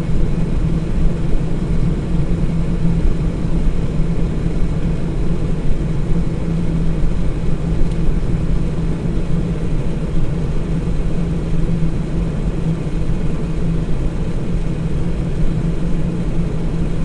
0.0s electrical and mechanical humming of my freezer 17.0s

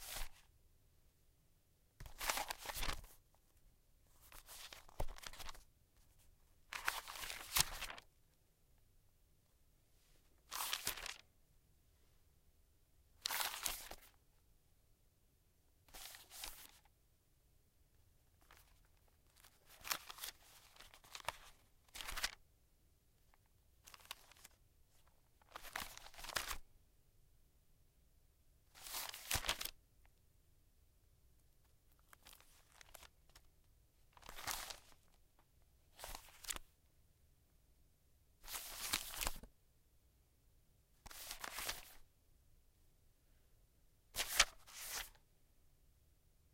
0.0s paper shuffle 0.4s
2.0s paper shuffle 3.2s
4.2s paper shuffle 8.0s
10.5s paper shuffle 11.2s
28.8s paper shuffle 29.7s
36.0s paper shuffle 36.6s
38.4s paper shuffle 39.5s
41.1s paper shuffle 42.0s
44.2s paper shuffle 45.2s

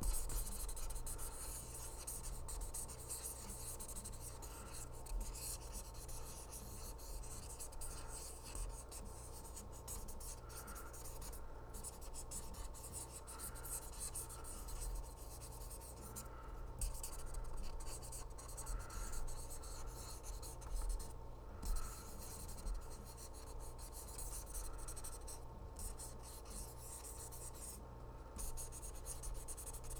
0.0s permanent marker writing 27.8s
28.4s permanent marker writing 29.9s

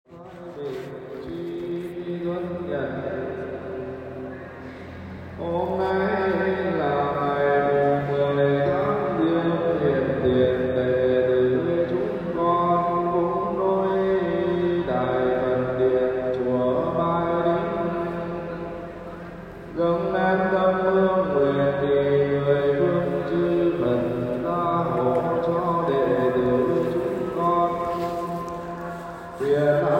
0.1s buddist monk singing 29.9s

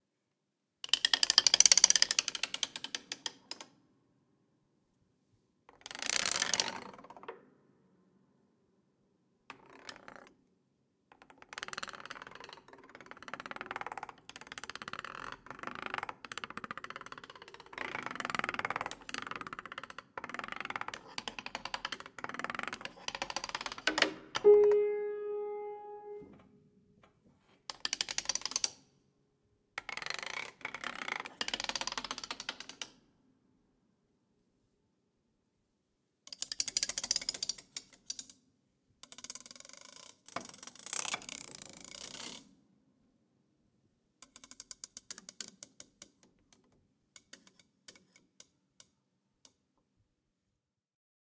23.9s Plectrum and nails over piano keyboard 26.4s

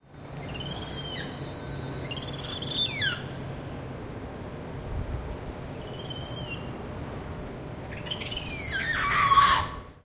8.3s Black Spider Monkey chattering and screaming 9.8s

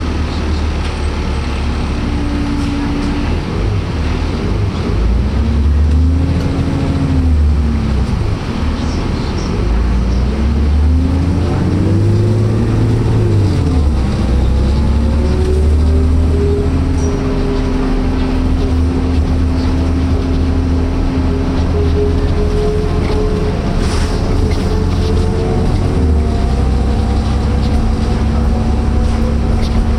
0.0s engine and transmission sounds 29.9s

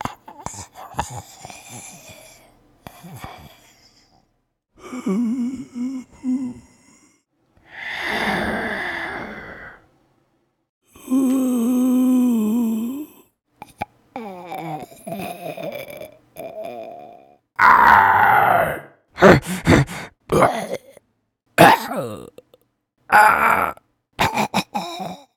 14.3s Zombie groan 21.0s
23.1s Zombie groan 23.8s

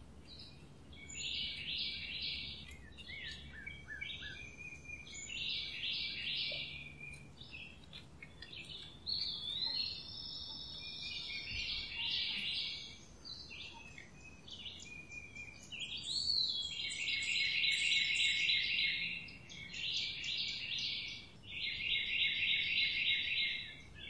0.0s birdsong 24.0s

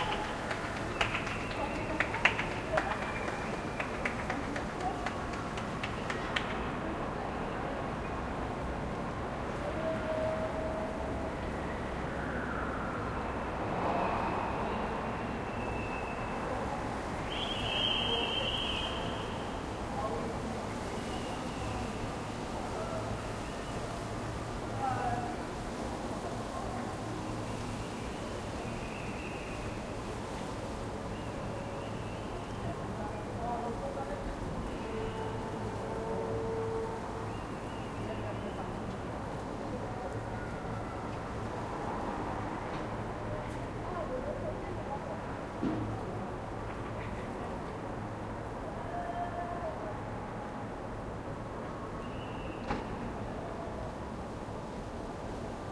0.0s Cheers 4.4s

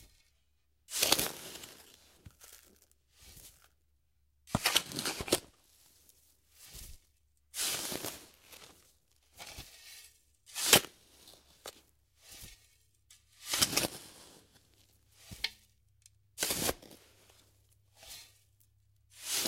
0.9s Shovel digging around in sandy dirt 3.6s
4.5s Shovel digging around in sandy dirt 5.4s
7.6s Shovel digging around in sandy dirt 8.8s
9.4s Shovel digging around in sandy dirt 15.7s
16.4s Shovel digging around in sandy dirt 18.4s
19.1s Shovel digging around in sandy dirt 19.4s

